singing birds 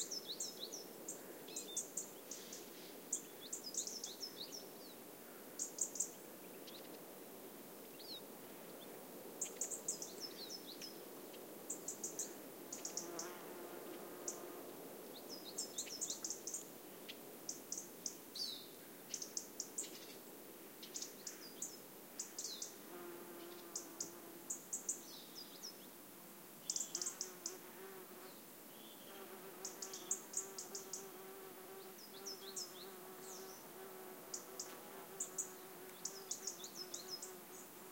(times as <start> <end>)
26.6 27.6, 28.2 33.6, 34.3 37.7